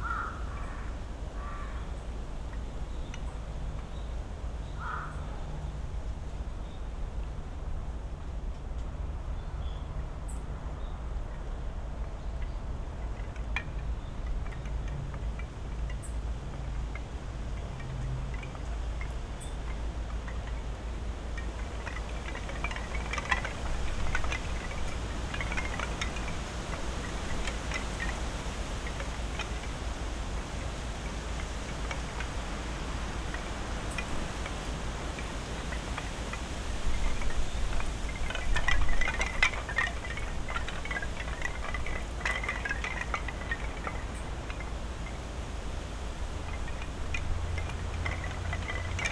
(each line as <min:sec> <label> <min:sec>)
0:00.0 several species of birds 0:49.1
0:00.0 traffic 0:49.1
0:00.0 wind blowing through high trees 0:49.1
0:12.9 clatter of wooden prayer tablets 0:49.1